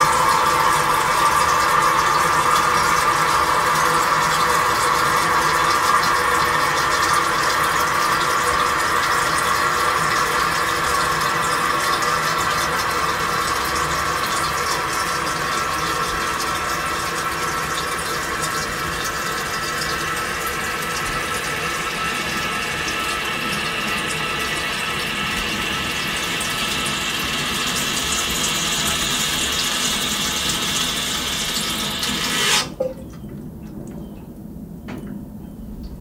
toilet tank filling with water 0:00.0 - 0:35.2

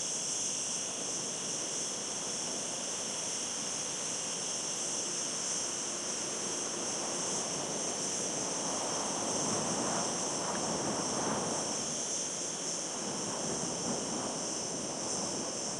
wind shakes vegetation 0:05.6 - 0:15.7

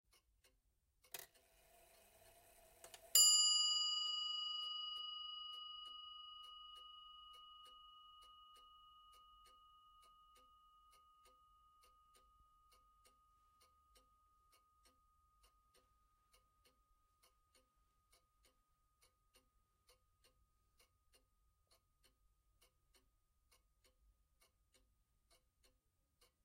regency clock (made by R Restall, Croydon) chimes once 0:02.9 - 0:13.0

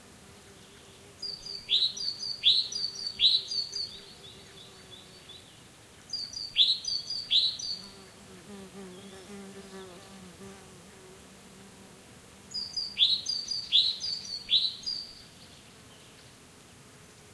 insects buzzing 0:00.0 - 0:17.3
different birds singing 0:08.8 - 0:09.4
different birds singing 0:12.5 - 0:16.3

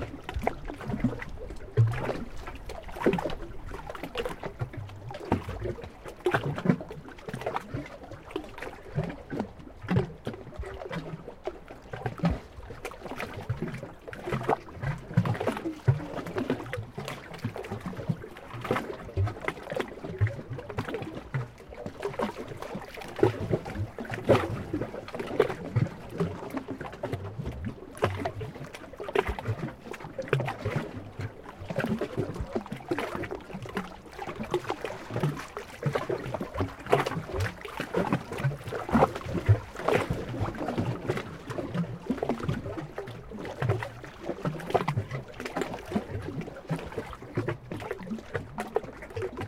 Lake Waves 0:00.0 - 0:49.4

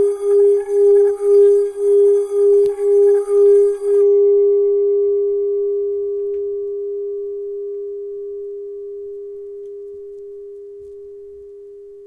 singing bowl 0:00.0 - 0:12.0

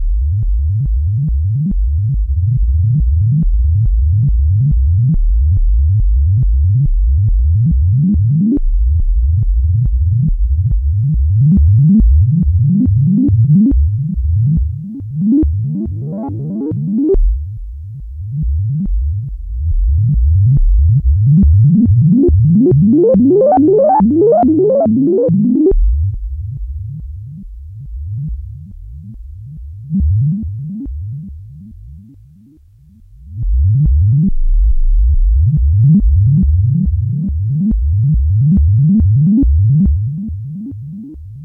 Whole-Tone scale midi sequence 0:09.4 - 0:41.4

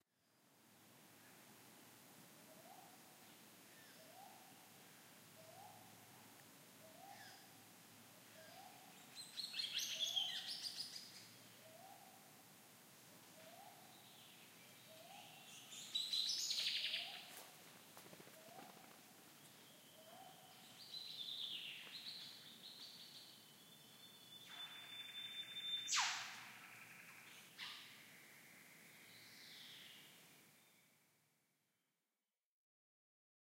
birds 0:13.3 - 0:30.2

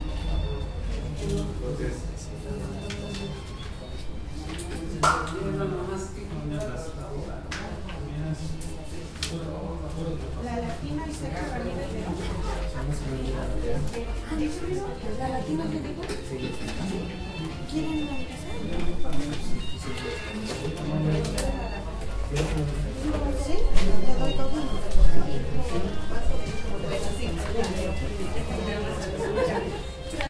Office Room Tone 0:00.0 - 0:30.2

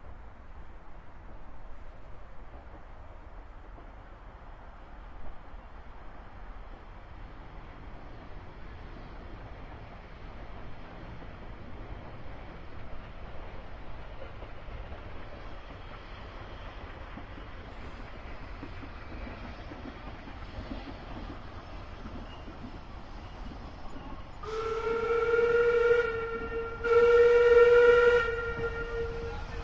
narrow-gauge steam train 0:00.0 - 0:29.6

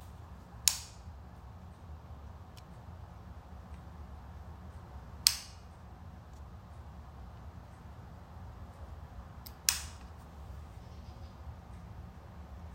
Floor lamp switch is turned off and on 0:00.6 - 0:01.1
Floor lamp switch is turned off and on 0:05.2 - 0:06.4
Floor lamp switch is turned off and on 0:09.4 - 0:10.1

